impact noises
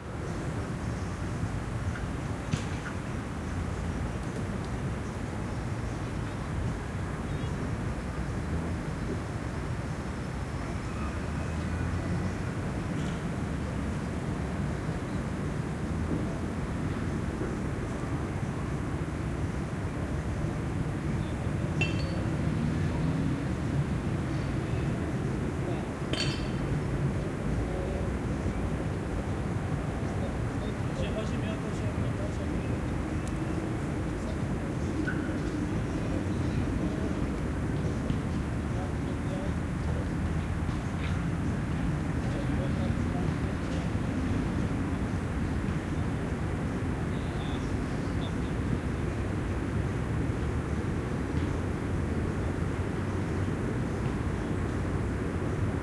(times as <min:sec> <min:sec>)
0:26.1 0:26.7